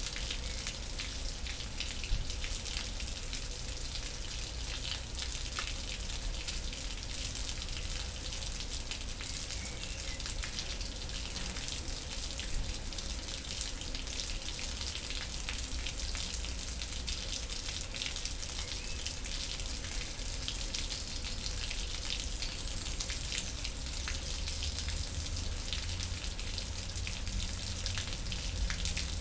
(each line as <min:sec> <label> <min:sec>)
0:00.0 Water inflow from a nearby pond 0:29.2
0:00.0 river comes out from the underground, flowing in a concrete canal 0:29.2
0:16.8 dripping water 0:29.2